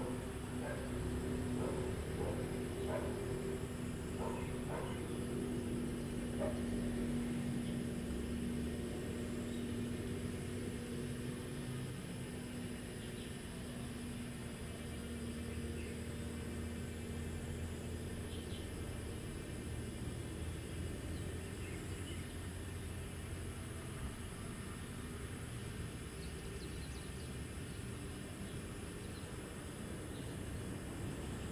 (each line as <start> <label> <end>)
0.0 Traffic Sound 7.8
0.0 Cicadas sound 31.5
4.1 Bird calls 5.4